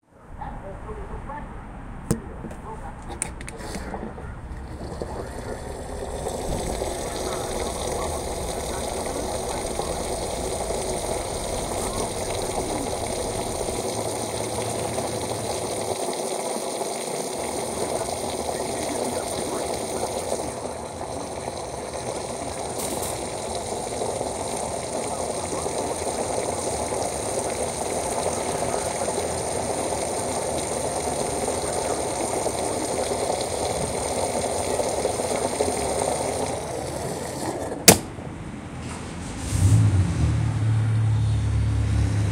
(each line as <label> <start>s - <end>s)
gas tank filling up 3.1s - 38.3s
clicking once the tank is full 37.6s - 38.1s